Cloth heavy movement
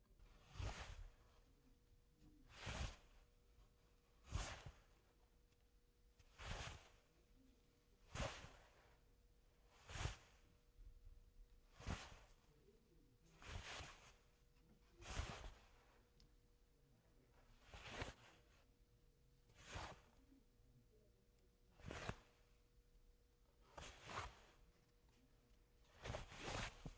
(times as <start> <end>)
0.2 1.5, 2.4 5.3, 6.1 7.2, 8.0 12.5, 13.2 16.2, 17.3 18.7, 19.4 20.2, 21.7 22.5, 23.6 26.9